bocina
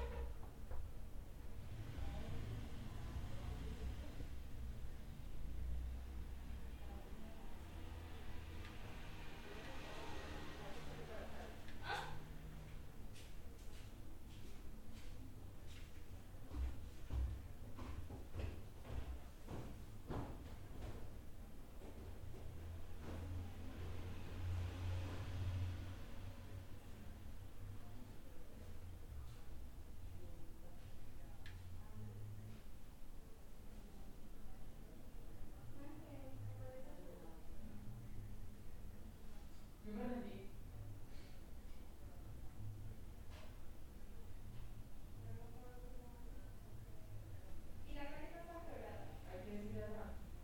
0.0s 0.6s

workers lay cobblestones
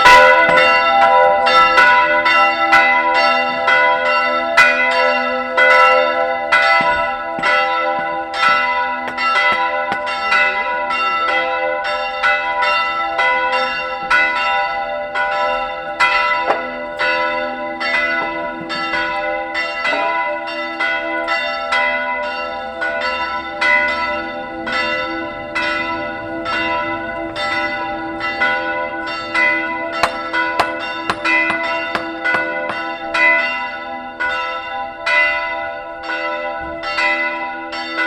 5.5s 11.4s

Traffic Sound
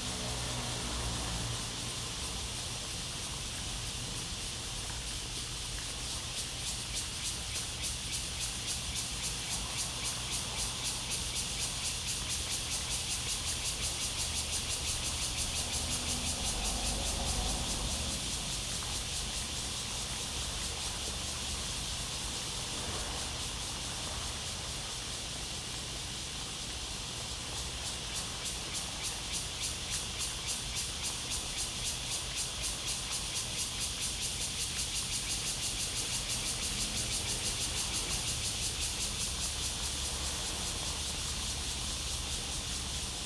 0.0s 2.3s, 14.1s 21.0s

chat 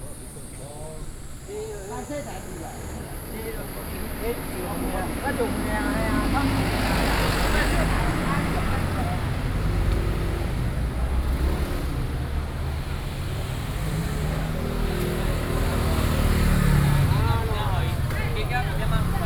16.6s 19.2s

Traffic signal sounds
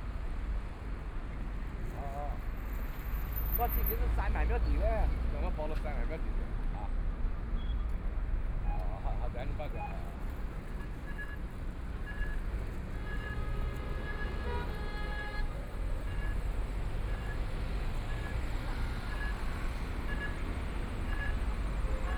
13.2s 22.1s

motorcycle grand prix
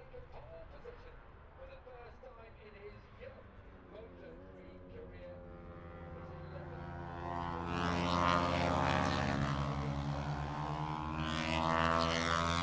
3.0s 12.6s

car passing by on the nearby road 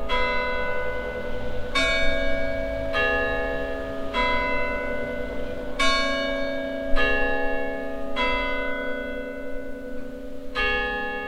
0.4s 5.9s

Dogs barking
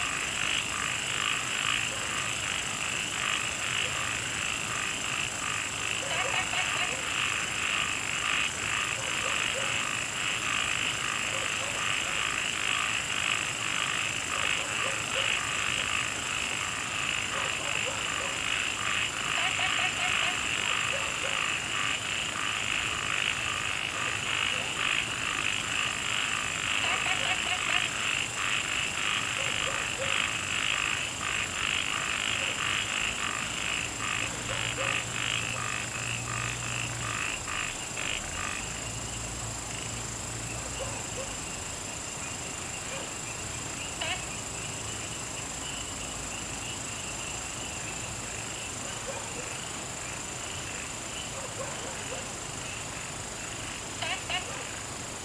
6.0s 7.2s, 9.0s 10.0s, 11.3s 12.2s, 14.3s 15.5s, 17.2s 18.6s, 19.4s 21.6s, 24.0s 24.8s, 26.8s 27.9s, 29.3s 30.4s, 32.3s 32.8s, 34.2s 35.4s, 40.6s 41.4s, 42.9s 43.2s, 48.8s 49.6s, 51.3s 52.4s, 54.2s 54.8s

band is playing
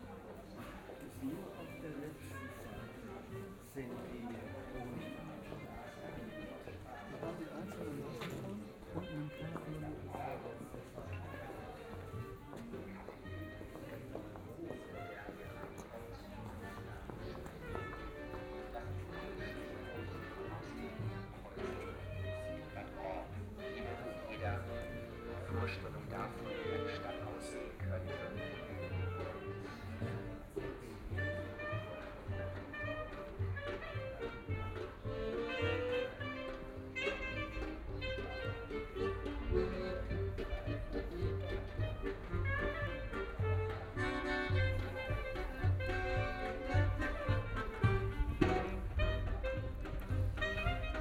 25.9s 51.0s

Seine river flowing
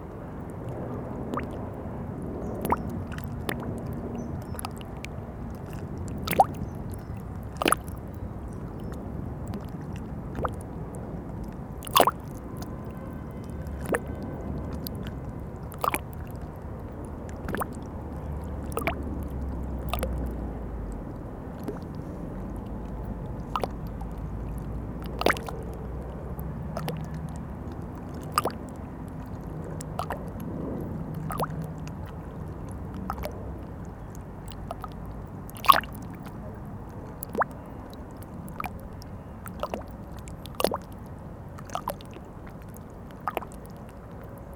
11.8s 13.2s, 13.8s 20.1s, 24.5s 25.5s, 31.1s 44.5s

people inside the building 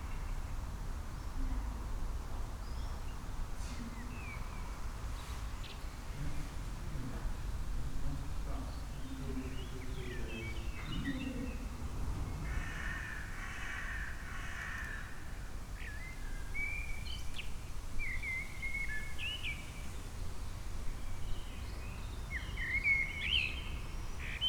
3.0s 15.5s

